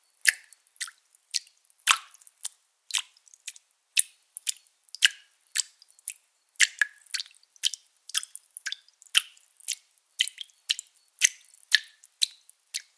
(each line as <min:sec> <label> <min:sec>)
0:00.2 slimey and dry blood dripping 0:12.9